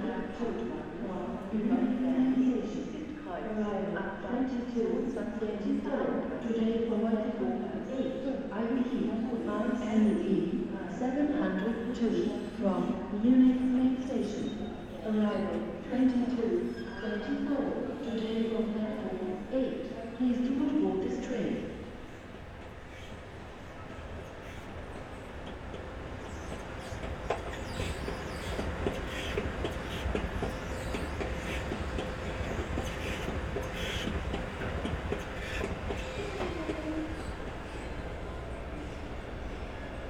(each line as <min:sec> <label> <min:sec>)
0:00.0 trains of all sort 0:40.0
0:11.2 squeaky escalators 0:12.7
0:14.2 squeaky escalators 0:18.7
0:22.2 squeaky escalators 0:40.0